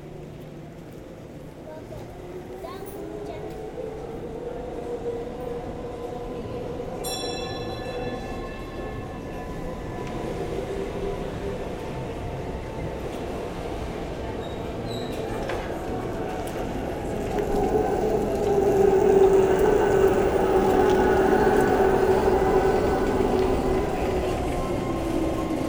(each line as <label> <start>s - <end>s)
Spanish tourists group leaves with the bikes 14.4s - 25.6s
water mill 17.2s - 25.6s